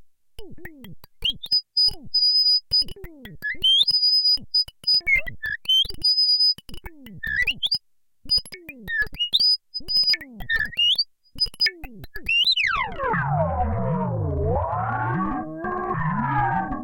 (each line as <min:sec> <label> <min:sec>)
0:08.5 high pitched oscillation sounds 0:16.8
0:08.8 glitches 0:16.8